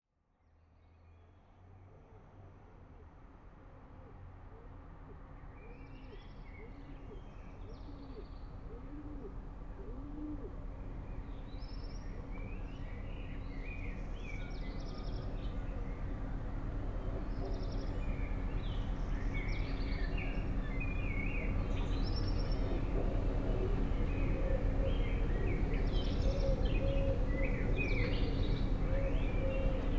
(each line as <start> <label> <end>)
6.3 urban noise 29.9